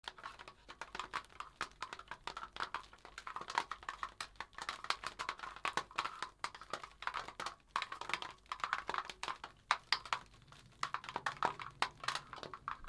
0.0s Plastic rustle 12.8s

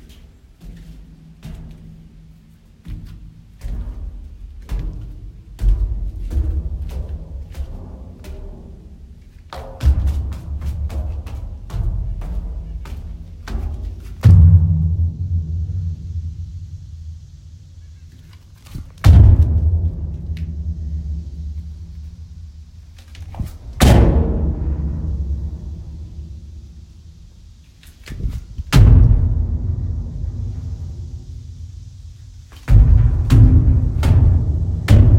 32.6s jumping in empty dumpster 35.1s

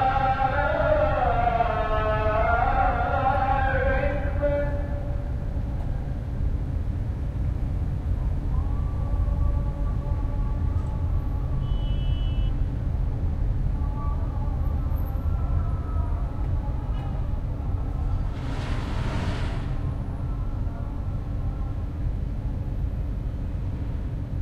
0.0s adhan 5.4s

